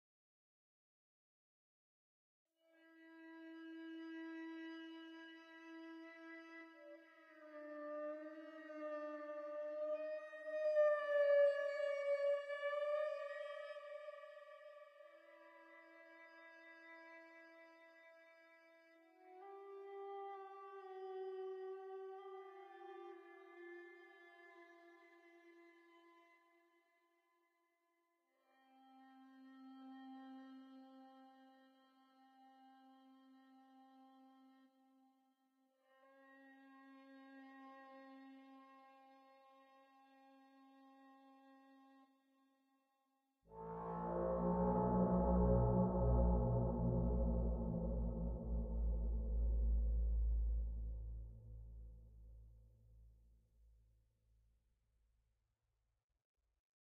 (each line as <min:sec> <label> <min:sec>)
0:02.7 string 0:26.8
0:43.5 string 0:52.2